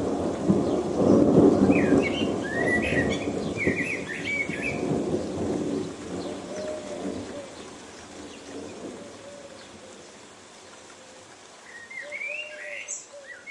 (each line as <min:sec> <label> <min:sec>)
0:00.0 thunder 0:07.5
0:00.0 Rain 0:13.5
0:00.6 birds 0:13.5